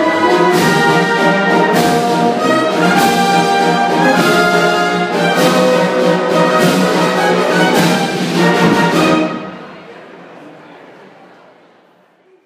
marching band 0.0 - 9.8

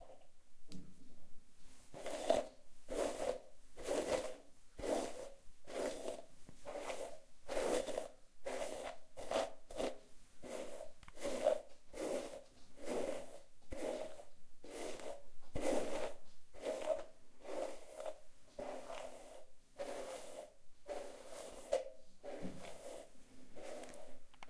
Combing wet hair 1.9 - 24.4

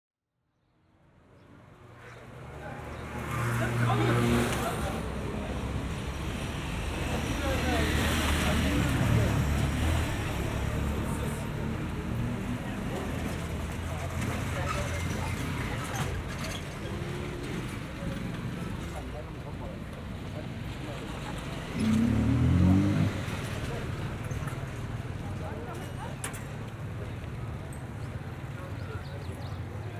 market 1.2 - 29.9
motorbike or moped 2.6 - 5.7
motorbike or moped 20.7 - 29.9

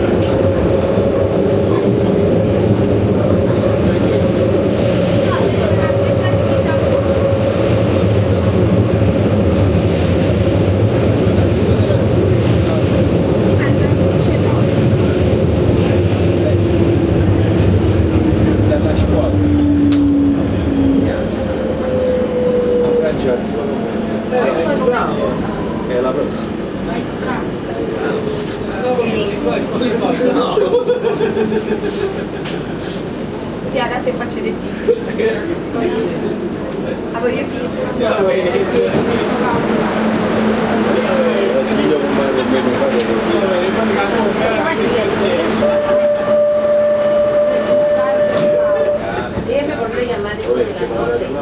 People talking 0.0 - 21.9
Subway train sounds 0.0 - 51.4
People talking 22.6 - 33.0
People talking 33.6 - 46.3
People talking 47.0 - 51.4

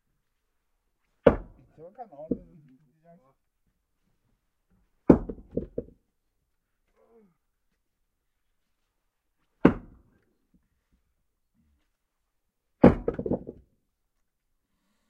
places the logs on the plinth 12.8 - 13.7

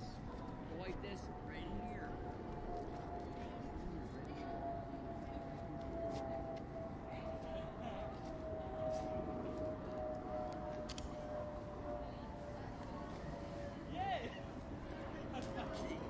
Planes fly overhead 0.0 - 16.0
tourists chat 0.0 - 16.0

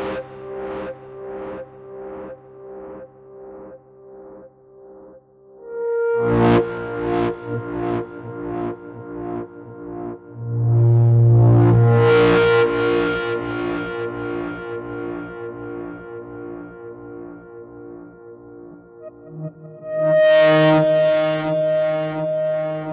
Distorted and echoed flute phrases 19.0 - 22.9

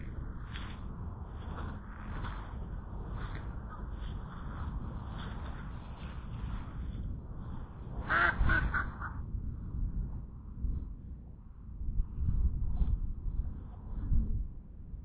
ducks 8.0 - 9.2

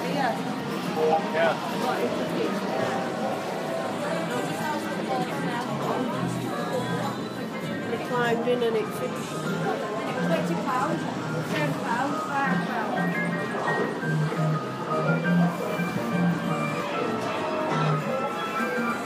video games and machines 0.0 - 19.0

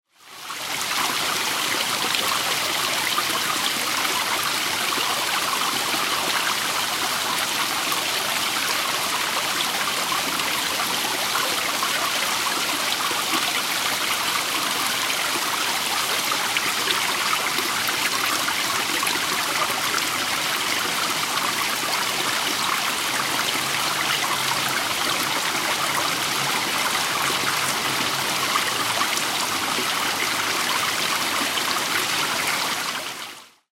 City Drain 0.2 - 33.5

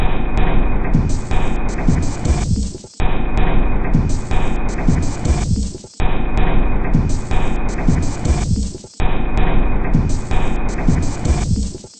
Drum 0.0 - 11.9

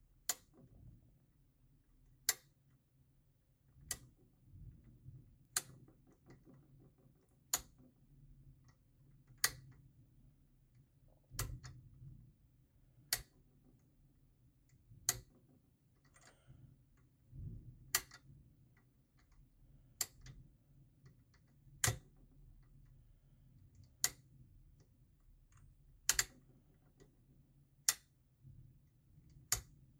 lamp switch clicking on and off 26.1 - 26.3

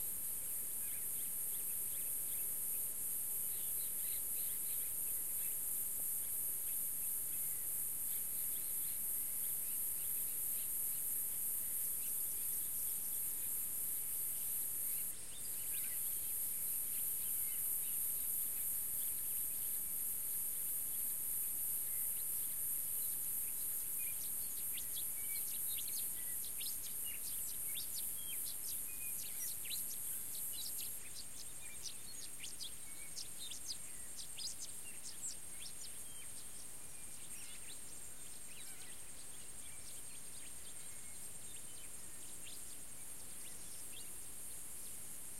Crickets 0.0 - 45.3

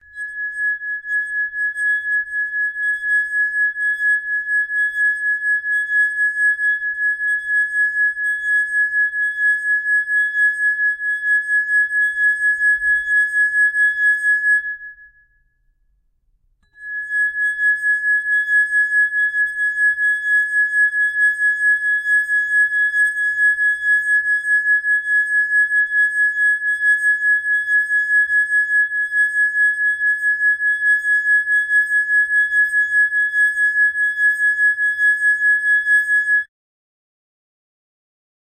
Playing a water glass 0.0 - 7.4
Playing a water glass 16.6 - 20.1

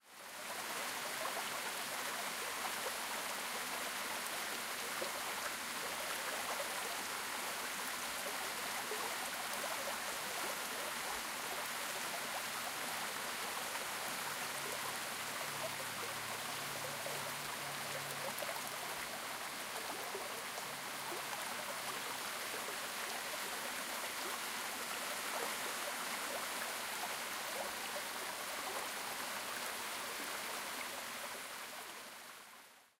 Waterfall Small with Water Stream 0.0 - 32.9

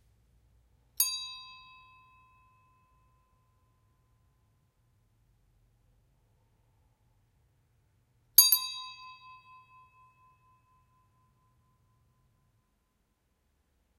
small bell being rung 1.0 - 3.7
small bell being rung 8.4 - 11.8

